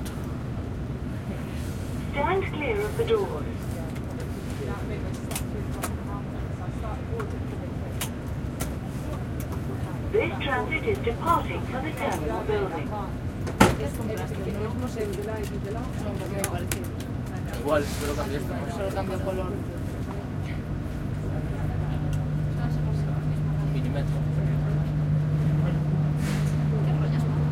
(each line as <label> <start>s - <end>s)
tram 0.0s - 27.5s
announce 2.1s - 3.3s
people 2.1s - 27.5s
announce 10.1s - 12.9s